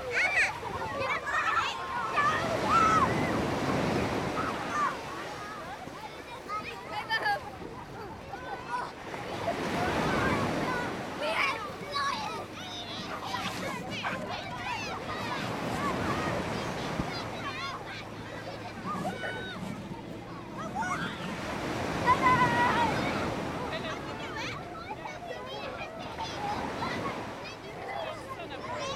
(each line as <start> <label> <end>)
0.0 kids screaming and laughing 28.9
0.0 waves crashing onto beach 28.9